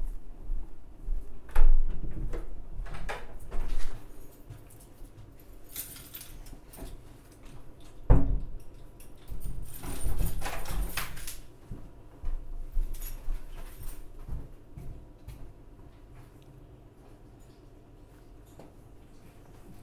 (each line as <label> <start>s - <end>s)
pitched hum of the entry hall 0.0s - 19.8s